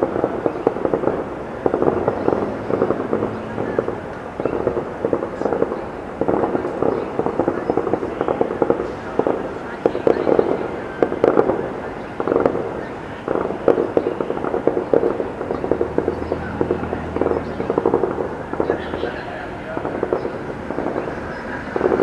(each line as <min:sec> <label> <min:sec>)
0:00.0 students talk 0:22.0
0:00.0 occasional car passes by 0:07.9
0:00.0 Bursts of gunfire 0:22.0
0:12.5 occasional car passes by 0:22.0